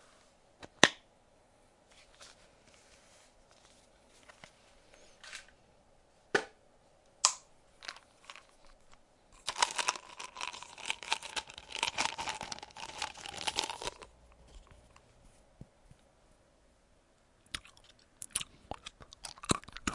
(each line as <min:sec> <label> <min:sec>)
0:17.5 Chewing Gum 0:19.9